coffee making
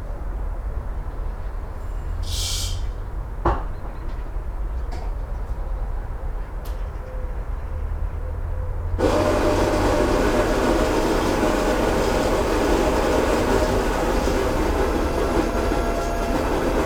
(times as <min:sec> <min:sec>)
0:09.0 0:16.8